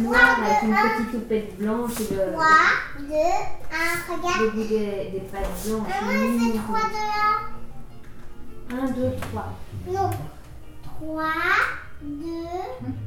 0.0s young children plays 7.7s
0.0s people discuss 13.0s
8.7s young children plays 13.0s

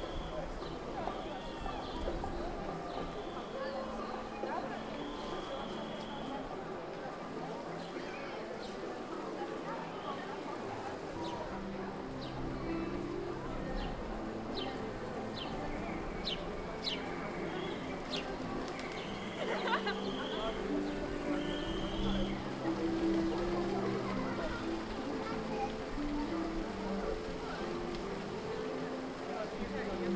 0.0s fountain 30.1s

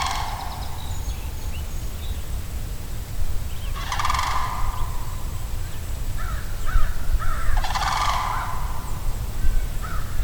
0.0s call of a sandhill crane 1.6s
3.5s call of a sandhill crane 10.2s

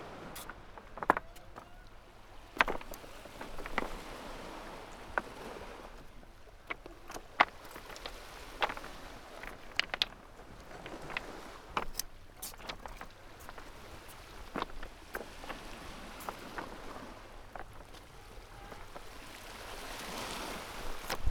0.0s stepping on pebbles on the shore 21.3s

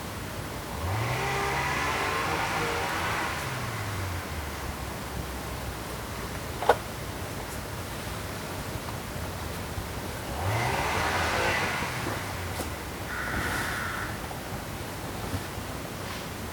0.7s noise from a strimmer 4.5s
0.7s crows protest against the motor noise 4.9s
10.1s crows protest against the motor noise 14.7s
10.3s noise from a strimmer 14.1s

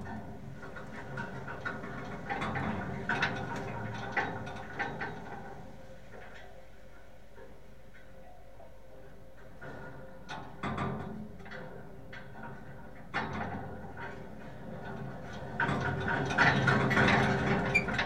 0.0s wind 18.0s

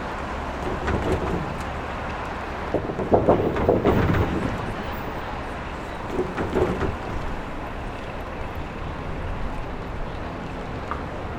0.0s Traffic rolling over large construction steel plates 11.3s

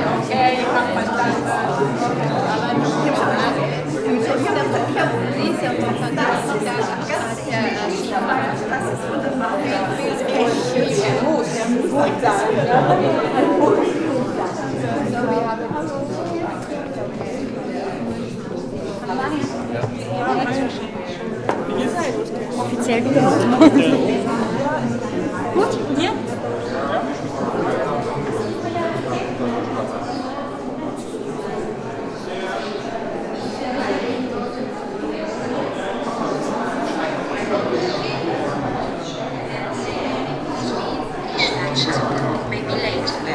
0.0s voices 43.3s

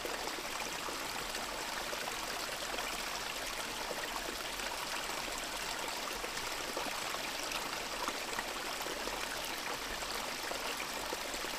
0.0s creek 11.5s

